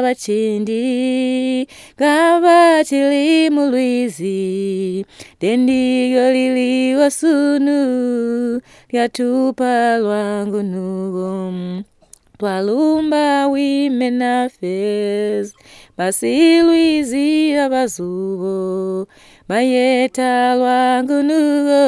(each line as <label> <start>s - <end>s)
singing a song of the Sikalenge women 0.0s - 21.8s